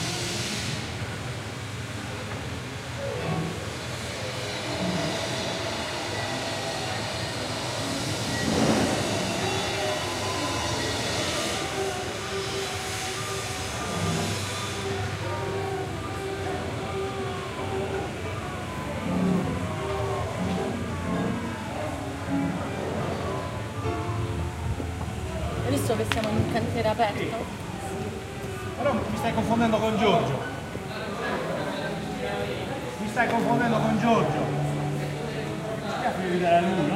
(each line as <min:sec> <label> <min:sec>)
0:00.0 piano 0:36.9
0:03.0 flute 0:36.9